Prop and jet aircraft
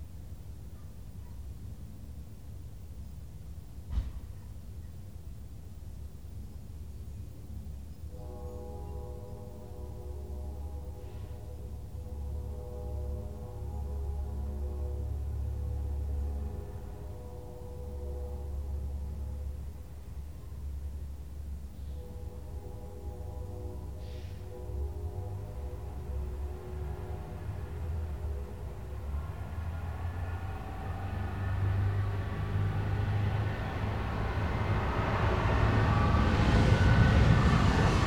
31.4s 38.0s

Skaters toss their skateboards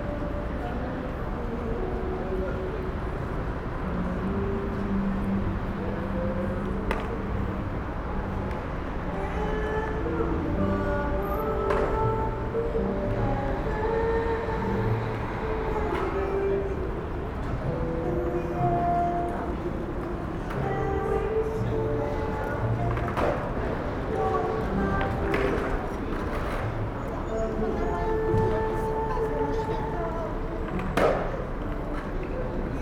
25.0s 26.7s

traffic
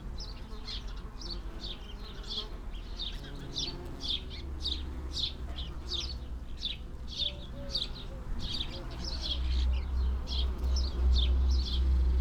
9.0s 12.2s

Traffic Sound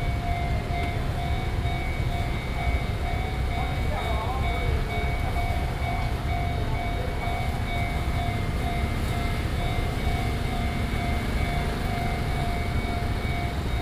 6.6s 13.8s

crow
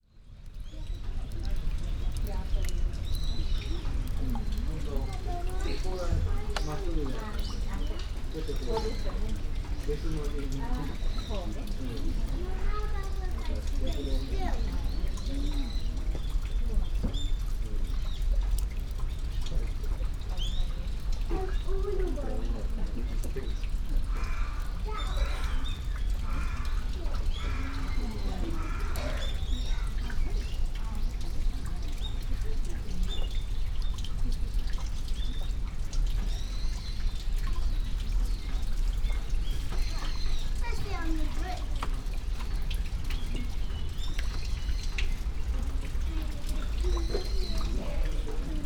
24.1s 30.2s

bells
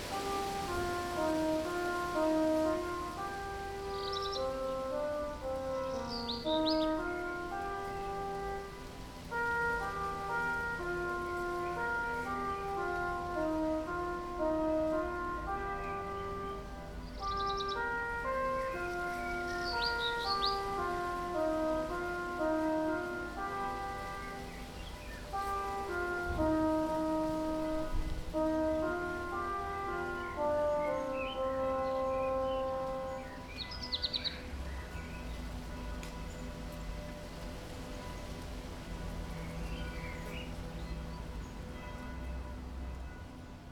15.5s 43.7s

